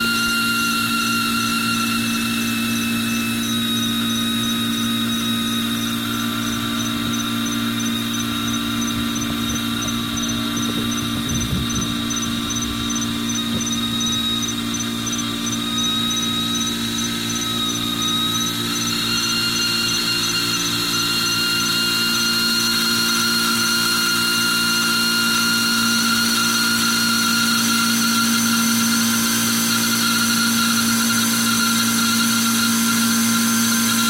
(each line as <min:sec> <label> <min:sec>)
0:00.0 faulty leaking air conditioning compressor 0:34.0
0:03.8 crickets 0:22.1